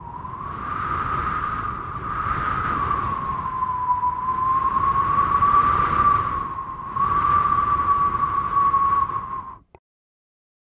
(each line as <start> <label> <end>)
0.0 cold winterbreeze 9.8